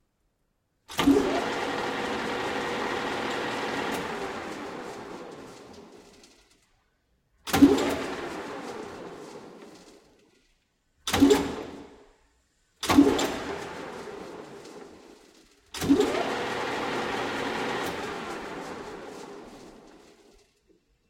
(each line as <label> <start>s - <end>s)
Metal Lathe 0.9s - 6.6s
Metal Lathe 12.8s - 20.5s